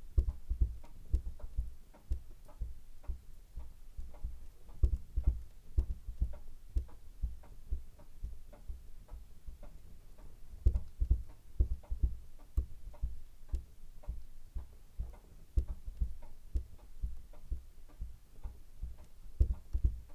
large clock on the mantelshelf 0:00.0 - 0:20.1

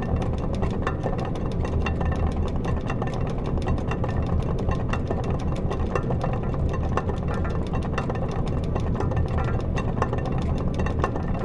very big fan (diameter 3 meters) is naturally turning with air 0:00.0 - 0:11.4

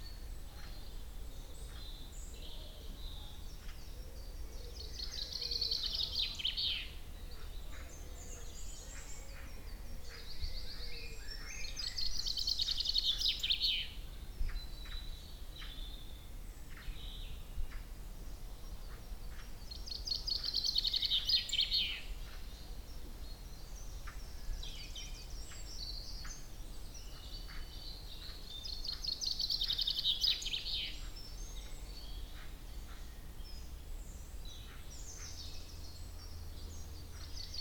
blackbirds 0:00.0 - 0:37.6

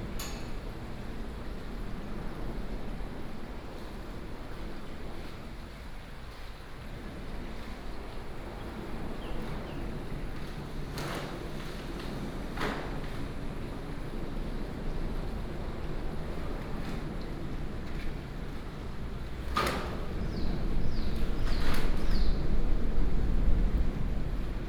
Birdsong 0:08.5 - 0:10.3
Birdsong 0:19.9 - 0:23.0

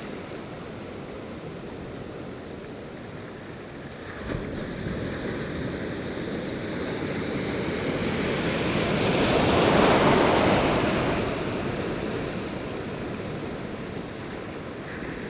Big waves are rolling and wheeling along the jetty 0:00.0 - 0:15.2

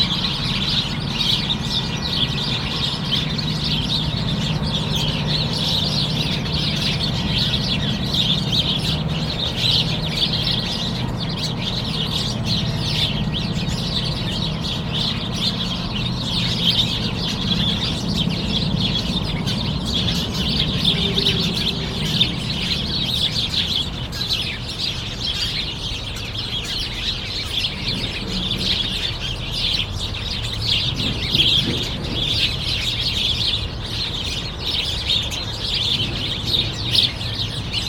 sparrows are fighting 0:00.0 - 0:37.8

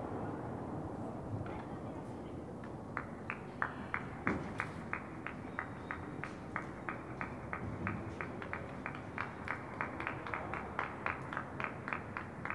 Public Clapping 0:02.6 - 0:12.5

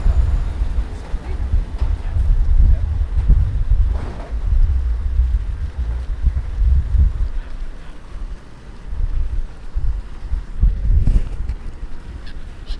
cars 0:00.0 - 0:10.6
Birds 0:11.8 - 0:12.7

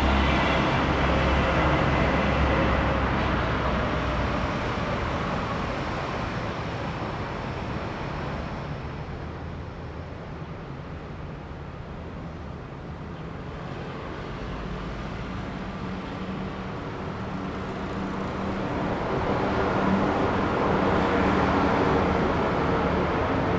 Traffic sound 0:00.0 - 0:08.6
The train runs through 0:00.0 - 0:23.5
Traffic sound 0:10.8 - 0:23.5

